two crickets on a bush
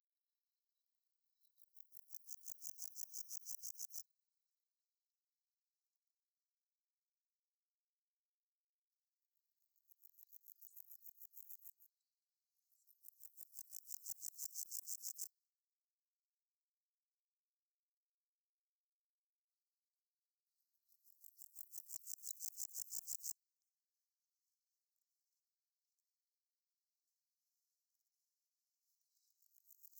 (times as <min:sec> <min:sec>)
0:01.6 0:04.0, 0:09.9 0:11.8, 0:12.8 0:15.3, 0:21.0 0:23.4, 0:29.2 0:29.9